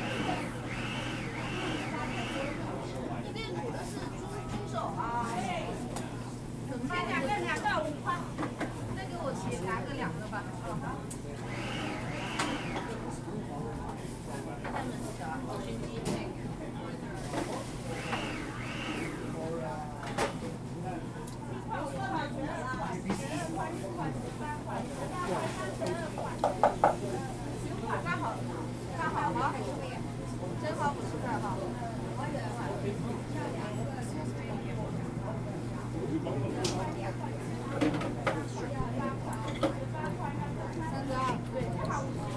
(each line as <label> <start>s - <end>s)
other diners 0.0s - 42.3s